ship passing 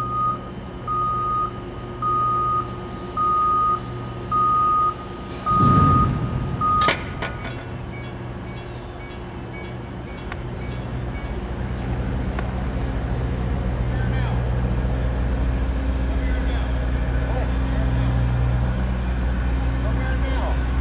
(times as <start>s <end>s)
5.0s 20.8s